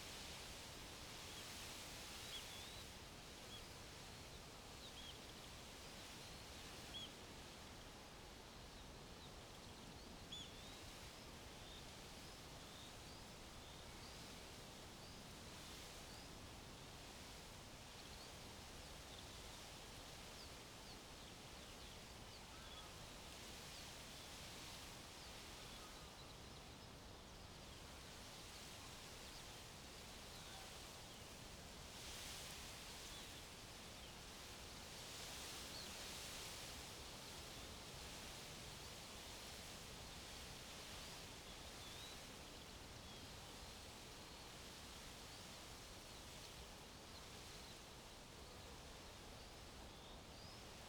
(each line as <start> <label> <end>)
0.0 reed swaying in the wind 50.8